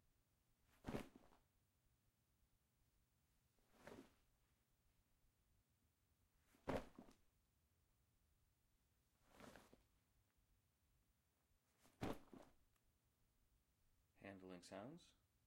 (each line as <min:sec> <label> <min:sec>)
0:06.7 leather bag being dropped and picked up 0:07.1
0:11.9 leather bag being dropped and picked up 0:12.5